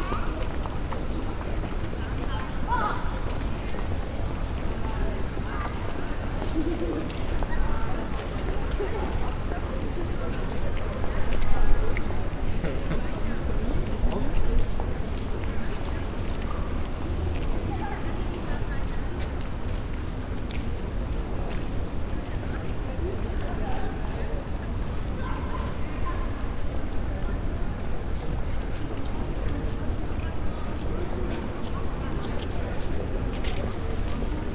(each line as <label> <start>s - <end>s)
pedestrians passing by on the hard stone pavement 0.0s - 34.5s